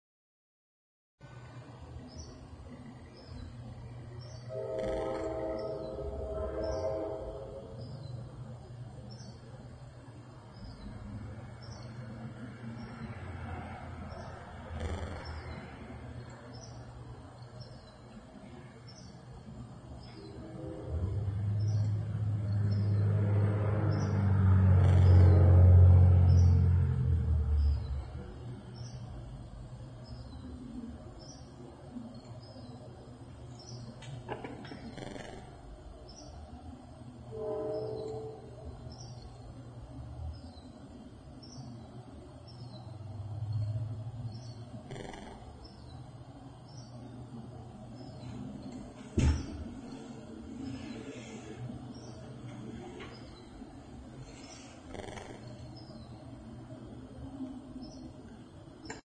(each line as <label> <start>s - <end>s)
birds 1.4s - 59.0s